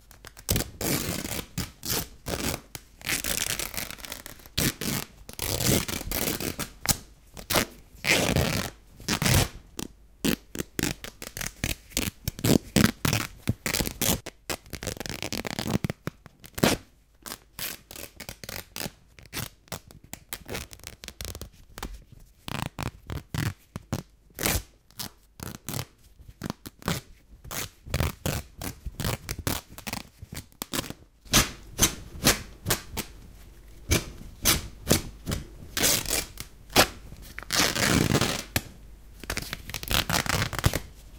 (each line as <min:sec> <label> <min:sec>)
0:00.2 Tearing T-Shirt Cloth 0:09.6
0:10.2 Tearing T-Shirt Cloth 0:21.5
0:22.5 Tearing T-Shirt Cloth 0:33.1
0:33.9 Tearing T-Shirt Cloth 0:40.9